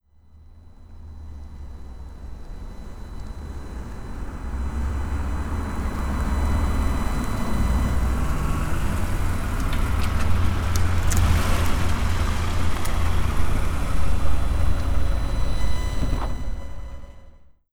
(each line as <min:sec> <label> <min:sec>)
0:04.5 Toyota Highlander approaching and stopping 0:16.9